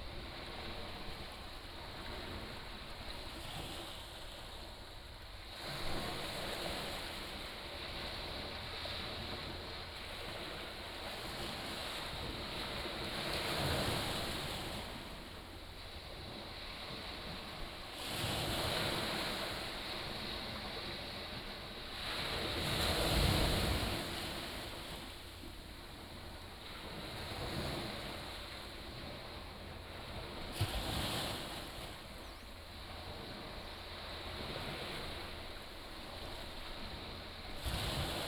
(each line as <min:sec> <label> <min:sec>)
0:00.0 waves 0:38.2